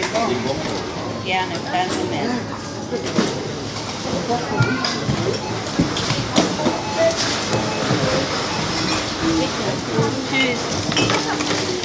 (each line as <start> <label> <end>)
0.0 checkout 11.8